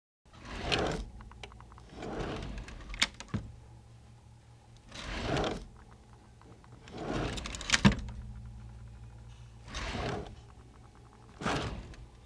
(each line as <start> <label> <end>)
0.4 Wood Drawer Opens and closes 1.1
4.9 Wood Drawer Opens and closes 5.7
6.8 Wood Drawer Opens and closes 8.1
9.7 Wood Drawer Opens and closes 10.4
11.4 Wood Drawer Opens and closes 12.0